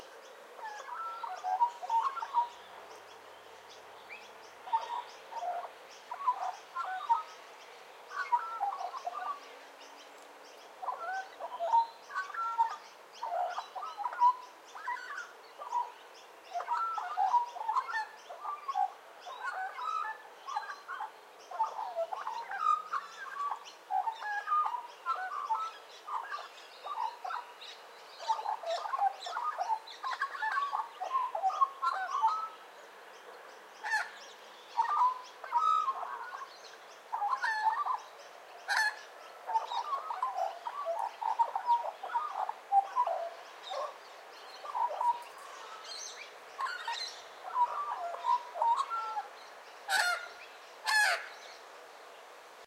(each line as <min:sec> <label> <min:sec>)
0:00.0 'Noisy Miners' (birds) 0:52.6
0:00.0 Rainbow Lorikeets 0:52.6
0:10.8 Australian Magpie 0:32.6
0:33.8 Australian Magpie 0:51.5